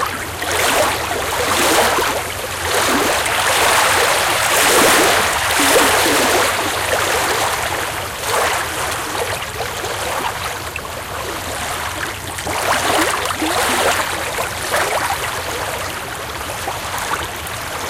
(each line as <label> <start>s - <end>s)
Small waves on the beach, lapping 0.0s - 17.8s